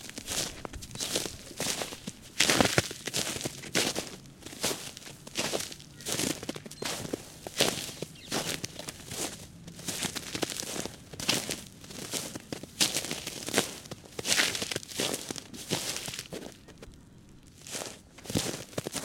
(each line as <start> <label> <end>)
0.0 Walking in crispy snow 19.0